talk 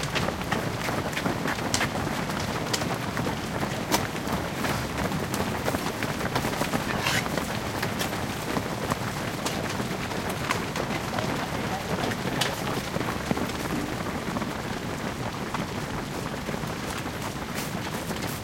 0:10.8 0:13.9

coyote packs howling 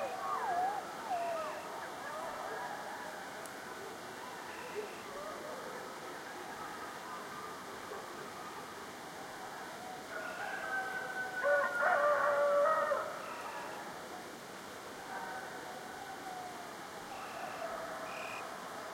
0:00.0 0:03.3, 0:15.0 0:18.5

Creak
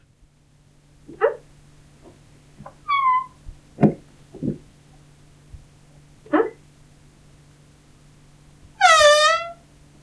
0:02.8 0:03.4, 0:08.8 0:09.6

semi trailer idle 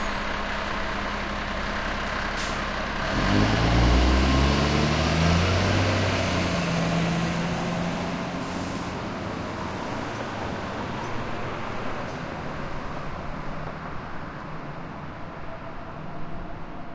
0:00.0 0:03.1

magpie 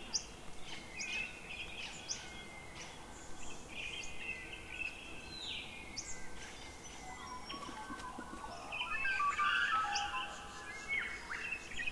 0:07.1 0:11.9

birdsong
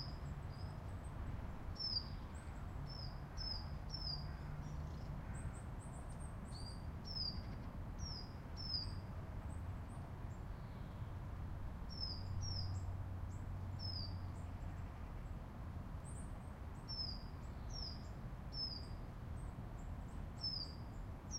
0:01.8 0:09.0, 0:11.9 0:15.0, 0:16.8 0:19.0, 0:20.4 0:21.3

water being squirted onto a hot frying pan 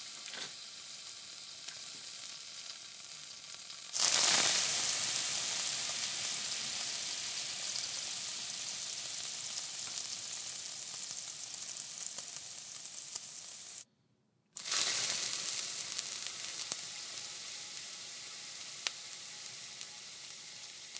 0:14.6 0:20.9

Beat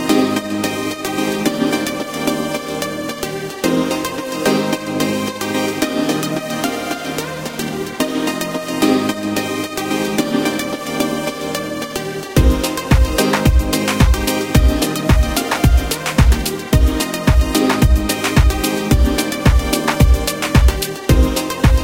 0:11.8 0:21.8

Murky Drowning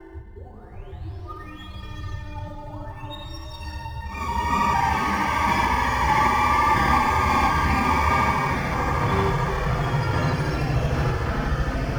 0:04.2 0:11.9

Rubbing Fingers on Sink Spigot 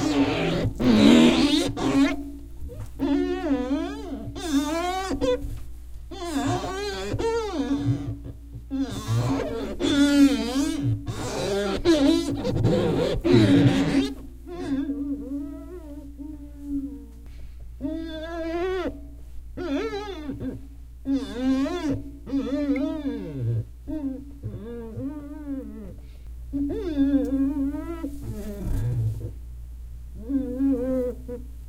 0:06.1 0:15.0

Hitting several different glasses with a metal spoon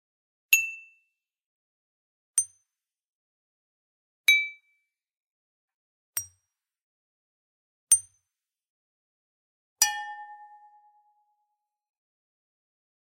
0:00.6 0:00.9, 0:09.8 0:10.4

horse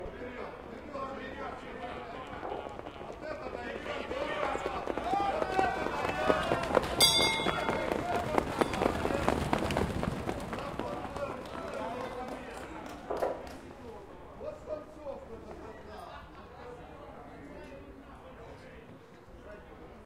0:02.2 0:12.2

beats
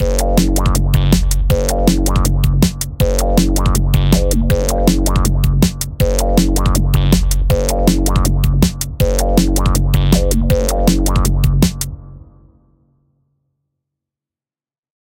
0:00.0 0:12.0

